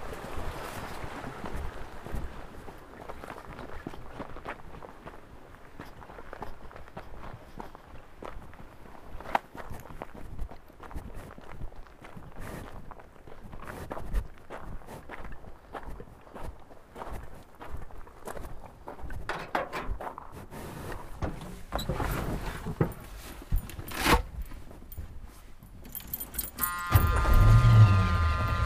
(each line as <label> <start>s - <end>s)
river 0.0s - 28.6s